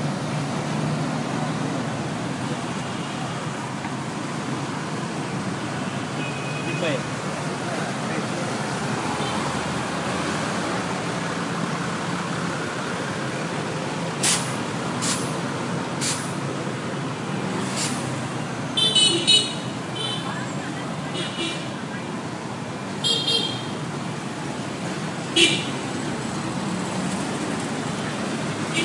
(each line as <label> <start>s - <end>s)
City traffic 0.0s - 28.8s